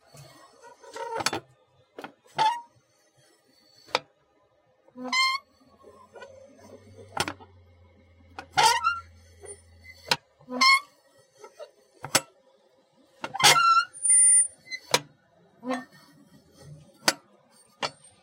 mailbox making a screeching noise 2.3 - 2.8
mailbox making a screeching noise 5.0 - 5.5
mailbox making a screeching noise 8.4 - 12.2
mailbox making a screeching noise 13.2 - 16.0

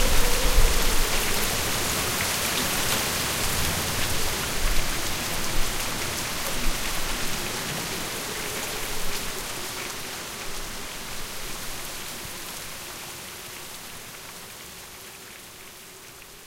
Rain 0.0 - 16.4
Wind 0.0 - 16.4

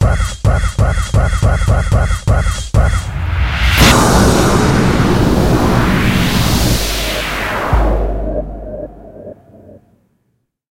News Sting 2.8 - 9.8
Impact 3.0 - 9.8

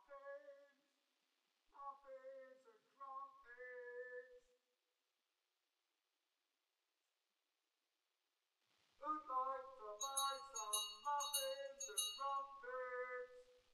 street muffin vendor with bell 10.0 - 12.5

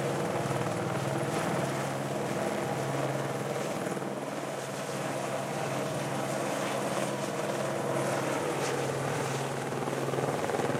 Helicopter Hover 0.0 - 10.7

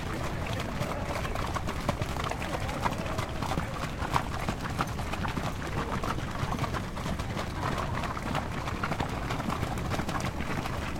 horses walking by 0.0 - 10.9

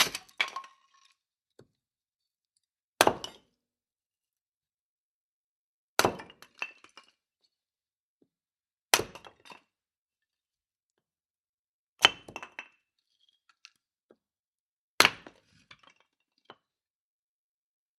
wood chopped with an axe 0.0 - 0.6
wood chopped with an axe 3.0 - 3.4
wood chopped with an axe 6.0 - 6.4
wood chopped with an axe 8.9 - 9.4
wood chopped with an axe 12.0 - 12.5
wood chopped with an axe 15.0 - 15.4

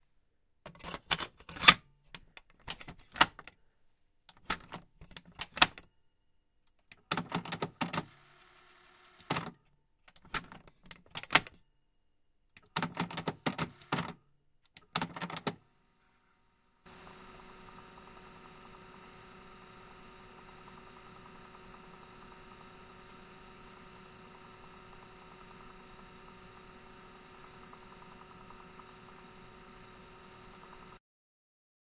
Cassette tape being loaded and rewound 7.2 - 9.6
Cassette tape being loaded and rewound 12.6 - 14.2
Cassette tape being loaded and rewound 14.8 - 16.0
Cassette tape being loaded and rewound 16.8 - 31.0

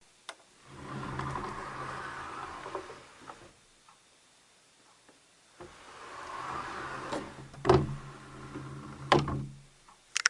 Opening/closing sliding closet doors 0.6 - 3.6
Opening and closing a closet drawer with a slow speed 0.6 - 3.6
Opening/closing sliding closet doors 5.5 - 9.8
Opening and closing a closet drawer with a slow speed 5.6 - 9.7

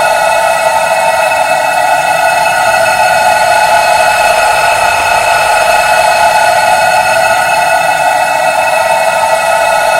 High Frequency Laser 1.5 - 8.6

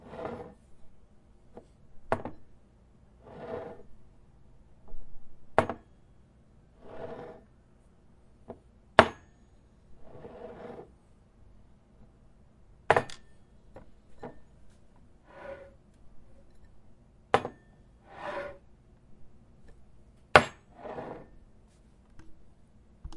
Glass on Table Movement 0.0 - 0.6
Glass on Table Movement 3.3 - 3.8
Glass on Table Movement 6.8 - 7.4
Glass on Table Movement 10.0 - 10.9
Glass on Table Movement 15.3 - 15.8
Glass on Table Movement 17.4 - 18.6
Glass on Table Movement 20.4 - 21.3

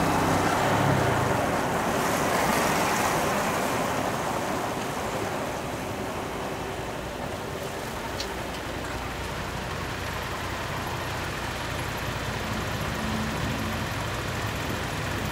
Engine 0.0 - 15.3
Traffic 0.0 - 15.3
motorcycles 0.0 - 15.3
truck 0.0 - 15.3

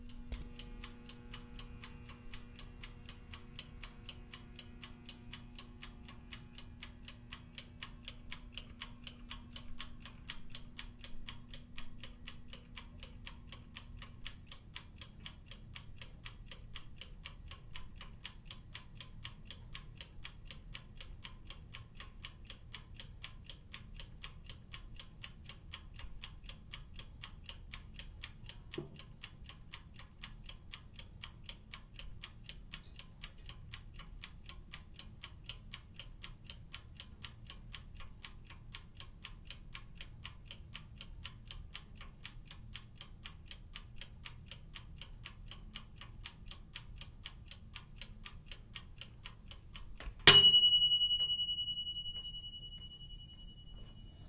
toaster oven timer ticks down 0.0 - 54.0
ding 50.3 - 54.2

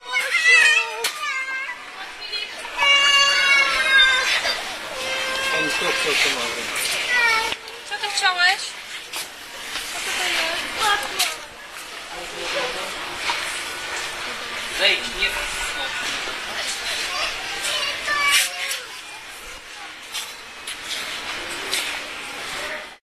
voices 0.0 - 23.0

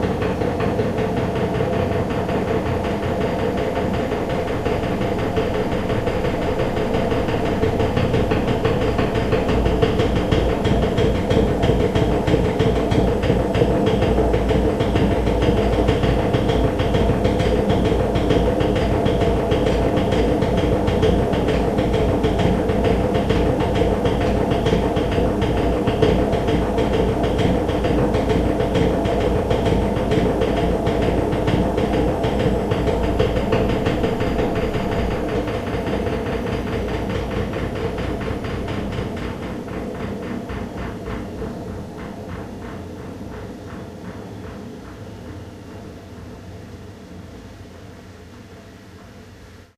old washing machine 0.0 - 49.7

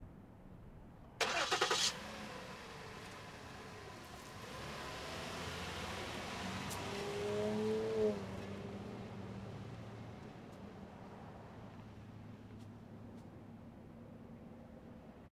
Car Start Drive 1.2 - 9.1

